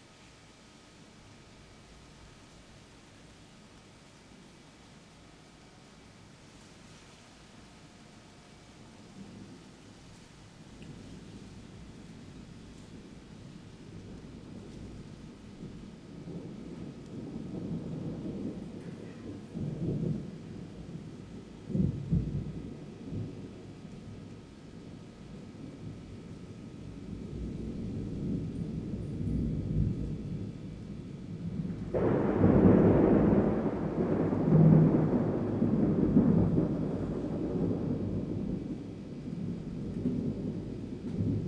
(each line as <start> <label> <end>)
8.7 summer thunderstorm 41.4